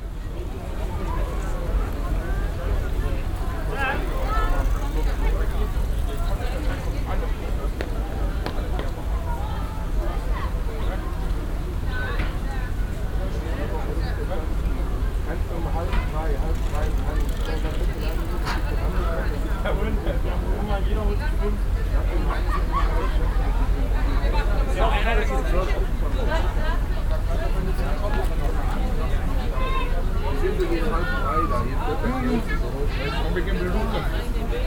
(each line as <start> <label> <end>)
0.0 internationale touristen und schulklassen 34.6